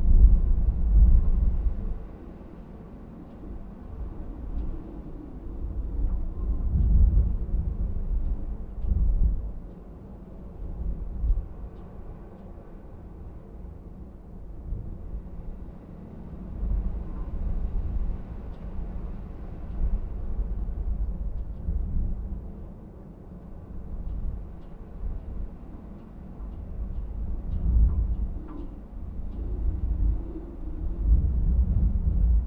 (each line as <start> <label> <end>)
0.0 Wild wind from inside a chimney vent 32.4